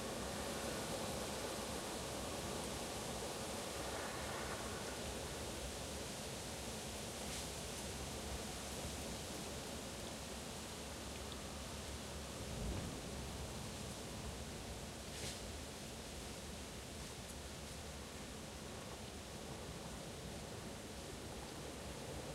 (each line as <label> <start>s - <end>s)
wind 0.0s - 22.3s